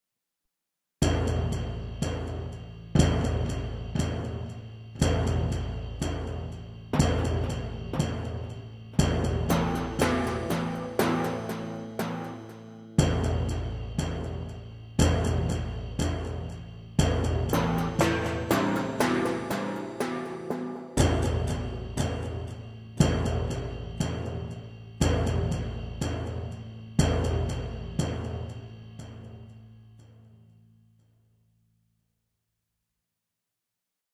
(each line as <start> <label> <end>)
1.0 percussion 31.2
9.0 MIDI guitar played through a Roland GR-33 guitar synthesizer 13.5
17.5 MIDI guitar played through a Roland GR-33 guitar synthesizer 22.6